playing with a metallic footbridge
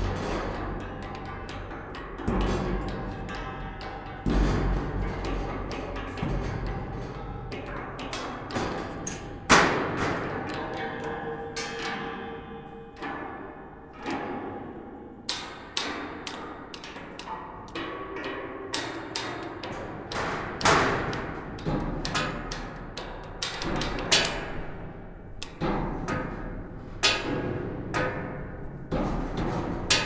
7.6 17.2

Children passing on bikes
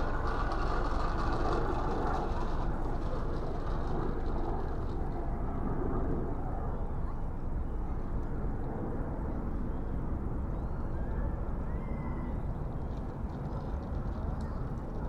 0.0 6.3

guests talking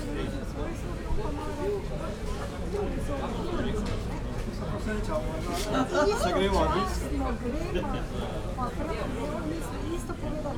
5.0 10.5

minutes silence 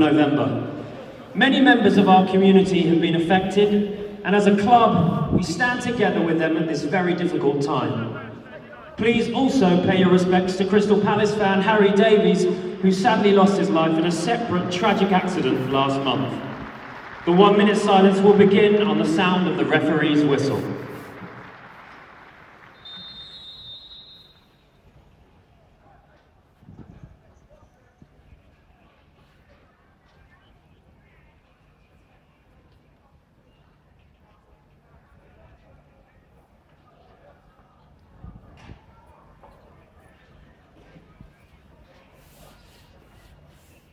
9.9 24.6

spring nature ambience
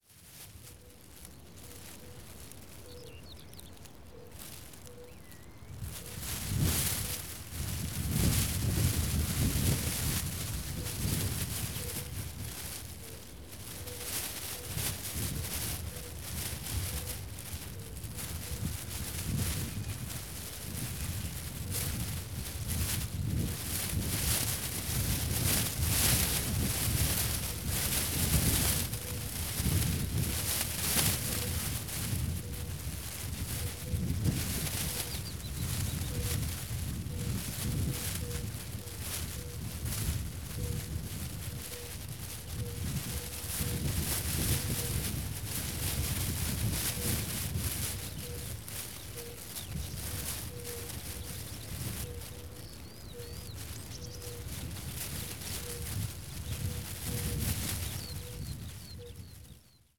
0.5 7.4, 9.4 21.7, 33.2 39.7, 47.9 55.8, 57.1 59.9

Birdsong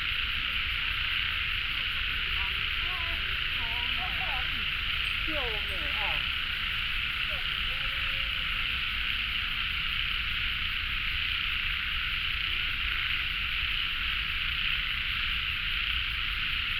2.4 9.7

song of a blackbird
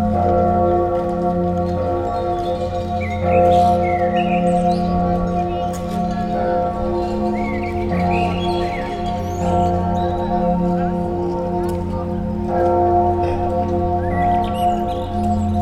2.2 5.8, 7.0 10.2, 14.0 15.6

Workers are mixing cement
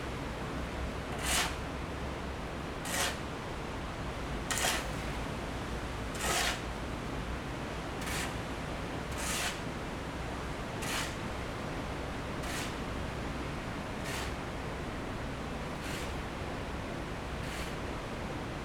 1.1 1.7, 2.8 3.3, 4.5 5.1, 6.2 6.7, 8.0 8.3, 9.0 9.7, 10.7 18.4

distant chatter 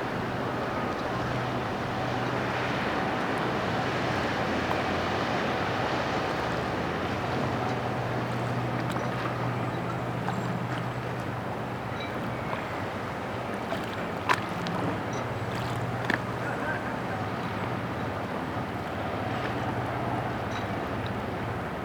8.6 18.2

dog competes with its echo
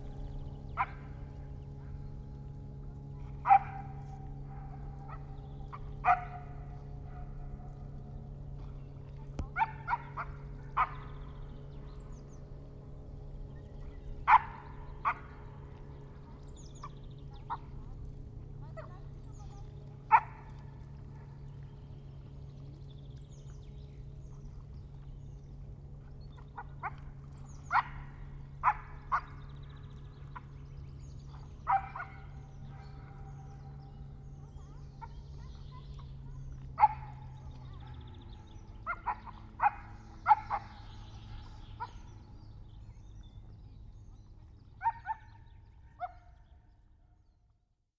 38.9 42.0

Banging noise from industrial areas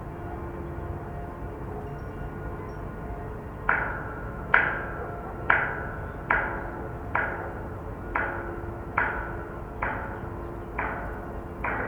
3.7 11.8

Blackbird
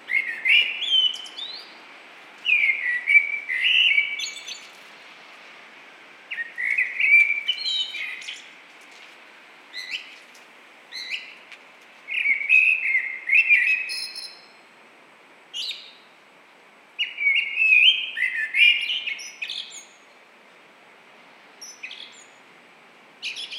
0.0 1.8, 2.4 4.8, 6.3 8.5, 10.9 11.4, 12.1 14.5, 17.0 20.0, 21.6 22.4, 23.2 23.5

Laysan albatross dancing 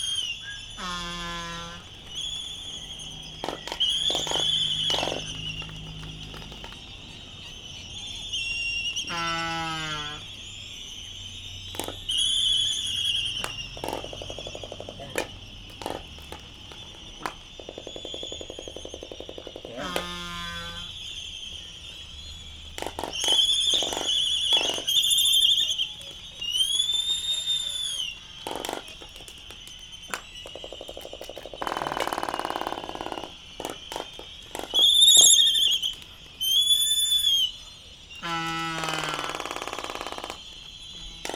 0.0 10.4, 11.7 20.9

